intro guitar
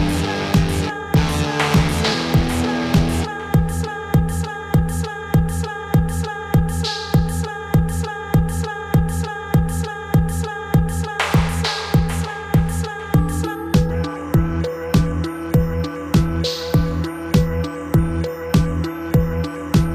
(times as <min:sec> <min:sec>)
0:00.0 0:03.5